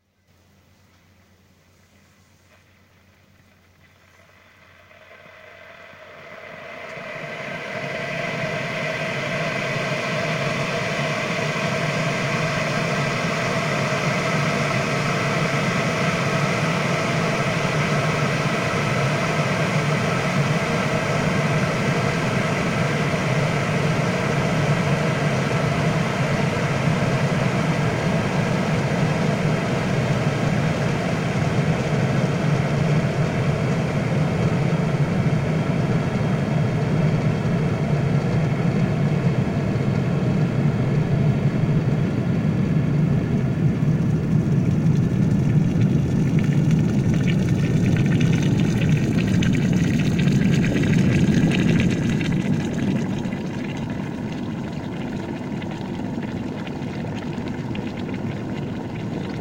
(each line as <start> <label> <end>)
0.0 Water Boiler 59.4